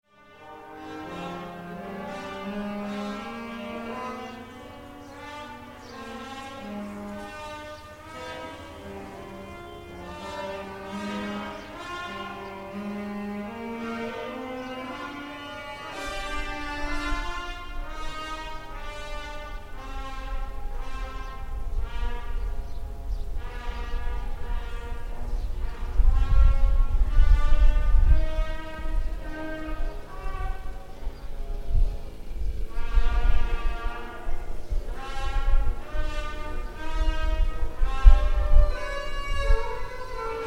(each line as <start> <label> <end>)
0.1 music lesson 40.4